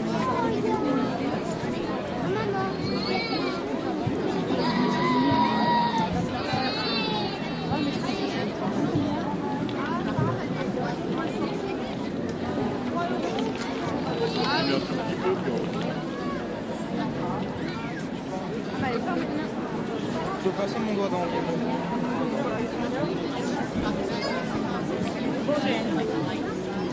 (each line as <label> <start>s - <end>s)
crowd sounds 0.0s - 26.9s